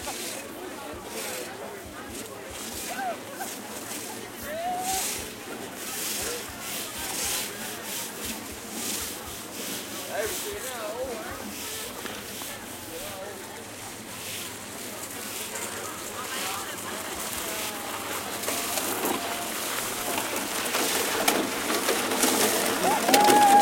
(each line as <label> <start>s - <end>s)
crowd 0.0s - 23.6s
plastic sleds 0.0s - 23.6s
snowsuits swish 0.0s - 15.6s